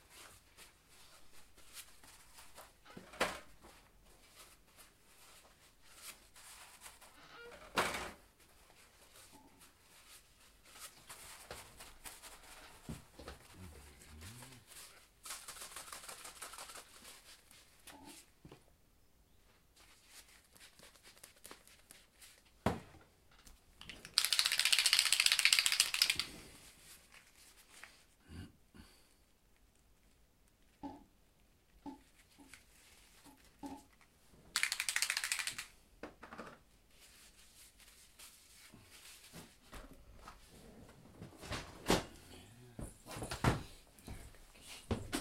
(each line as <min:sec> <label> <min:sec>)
0:14.8 shaking the bottle 0:17.4
0:23.8 shaking the bottle 0:26.3
0:34.5 shaking the bottle 0:35.7